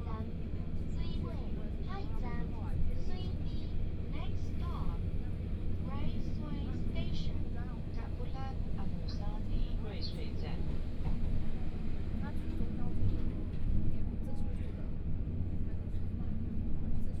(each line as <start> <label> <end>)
0.0 Interior of the train 17.2